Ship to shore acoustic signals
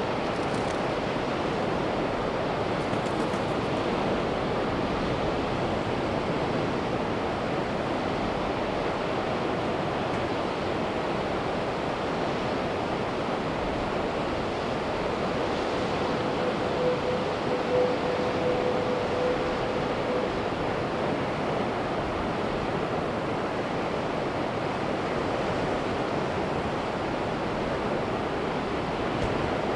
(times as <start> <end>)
13.4 24.8